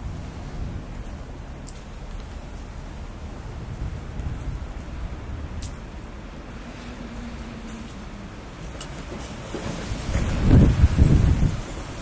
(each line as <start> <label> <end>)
0.0 raindrops 12.0
0.0 wind 12.0